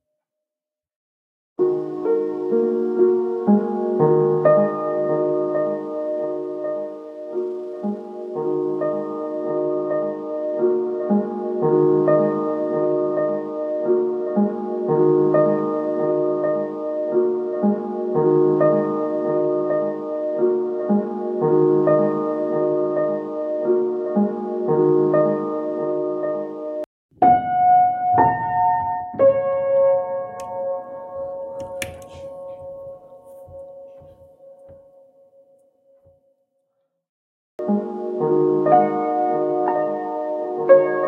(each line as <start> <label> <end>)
1.6 piano 36.2
37.6 piano 41.0